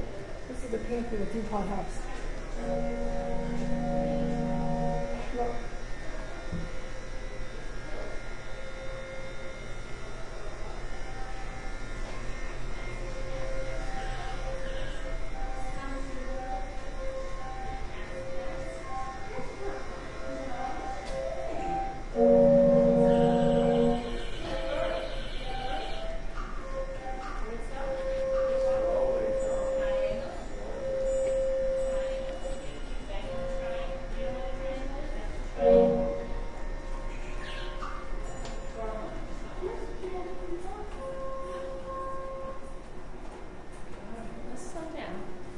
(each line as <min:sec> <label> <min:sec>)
0:00.0 murmuring voices 0:42.6
0:00.0 machinery whining 0:43.0
0:02.5 distant train whistle 0:05.8
0:08.6 distant train whistle 0:19.6
0:20.2 distant train whistle 0:37.8
0:41.0 distant train whistle 0:42.8